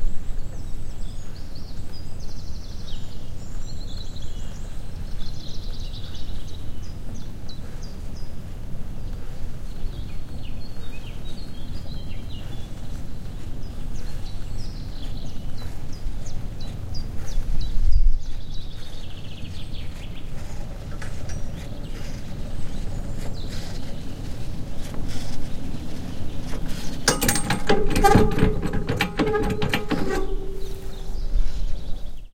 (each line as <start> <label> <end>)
0.0 birds 32.3
18.2 cableway 32.3